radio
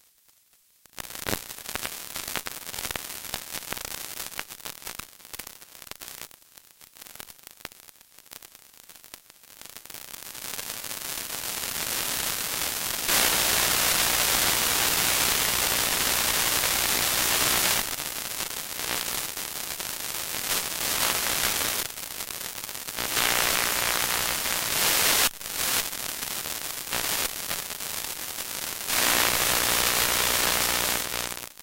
0:13.1 0:18.0, 0:23.0 0:25.3, 0:28.9 0:31.6

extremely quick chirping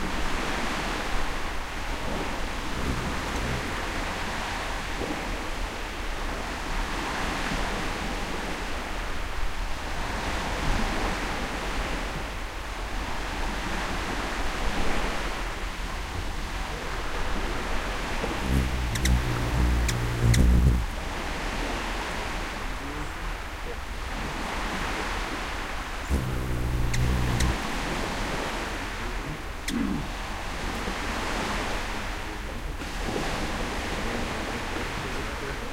0:18.4 0:21.0, 0:26.1 0:27.6

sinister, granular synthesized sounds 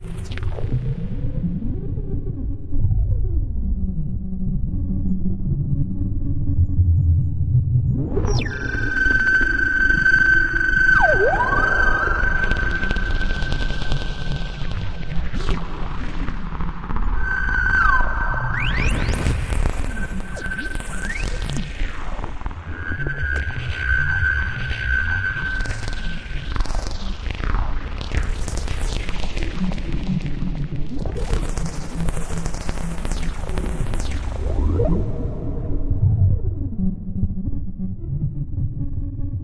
0:07.9 0:21.6

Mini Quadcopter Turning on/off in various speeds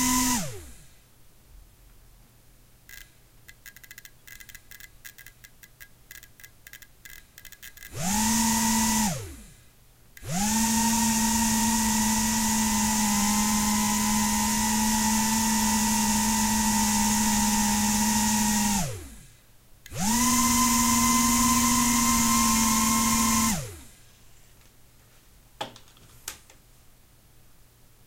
0:00.0 0:00.9, 0:06.7 0:09.6, 0:10.2 0:19.2, 0:19.9 0:23.9

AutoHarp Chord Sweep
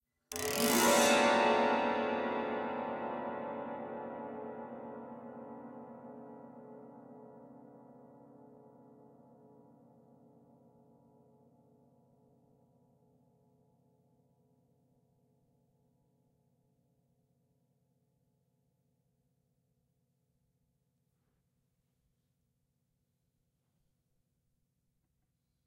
0:00.3 0:03.7

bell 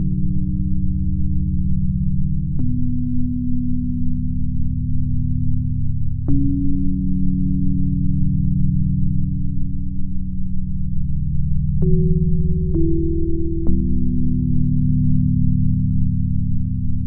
0:11.7 0:17.0

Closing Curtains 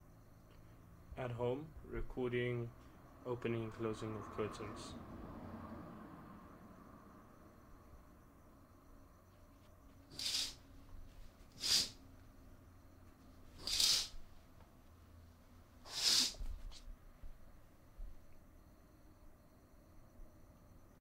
0:10.1 0:10.6, 0:11.6 0:12.0, 0:13.6 0:14.2, 0:15.9 0:16.8

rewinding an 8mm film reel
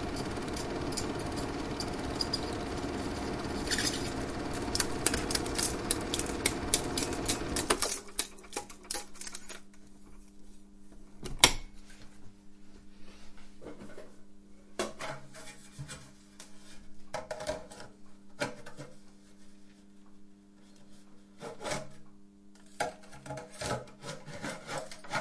0:00.0 0:08.8

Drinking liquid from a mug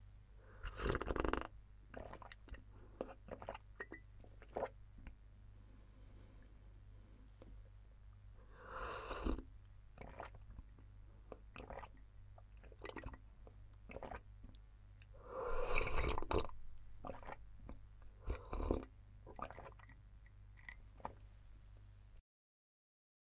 0:00.5 0:04.8, 0:08.6 0:10.4, 0:11.3 0:12.0, 0:12.6 0:13.2, 0:13.9 0:14.3, 0:15.1 0:20.0

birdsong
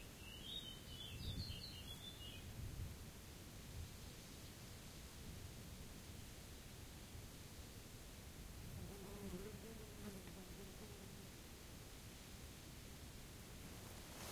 0:00.0 0:02.5

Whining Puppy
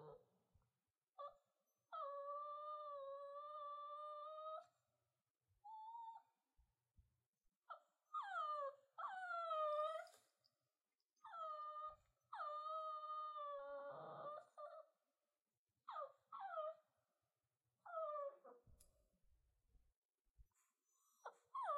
0:00.0 0:00.3, 0:01.2 0:04.8, 0:05.6 0:06.4, 0:07.6 0:10.5, 0:11.2 0:15.1, 0:15.8 0:17.0, 0:17.8 0:18.9, 0:20.6 0:21.7

